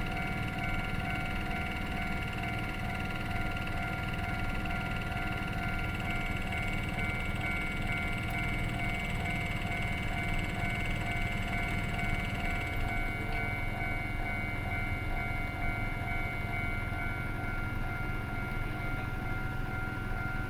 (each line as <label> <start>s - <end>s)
Trains traveling through 0.0s - 20.4s